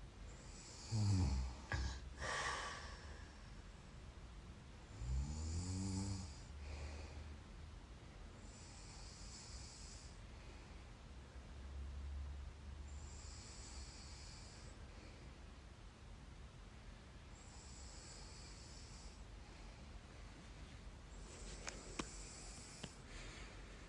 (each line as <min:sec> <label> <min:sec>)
0:00.4 mild snore 0:02.0
0:01.8 breathing 0:03.6
0:04.9 mild snore 0:06.9
0:06.5 breathing 0:07.5
0:08.4 mild snore 0:10.2
0:08.7 breathing 0:11.0
0:12.9 mild snore 0:14.8
0:13.1 breathing 0:15.5
0:17.4 mild snore 0:19.2
0:17.4 breathing 0:20.4
0:21.2 breathing 0:23.8
0:21.5 mild snore 0:23.0